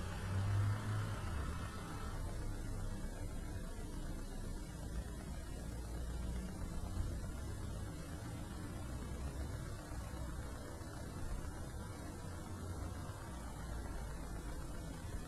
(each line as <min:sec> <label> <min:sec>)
0:00.0 cars passing by 0:02.4